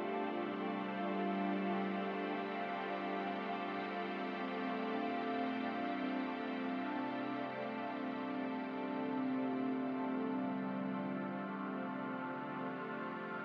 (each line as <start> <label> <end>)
0.0 ambient music 13.4